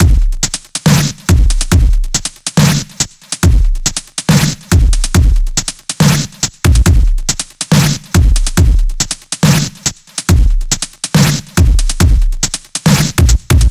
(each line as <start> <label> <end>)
0.0 Dubstep drumloop 13.7